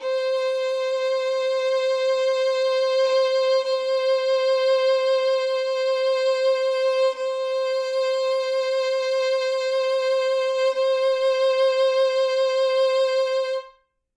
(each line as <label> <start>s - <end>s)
Solo Violin 0.0s - 13.9s